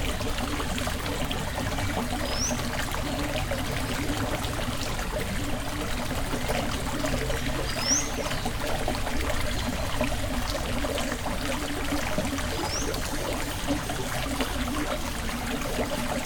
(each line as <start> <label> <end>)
0.0 water is flowing quietly 16.2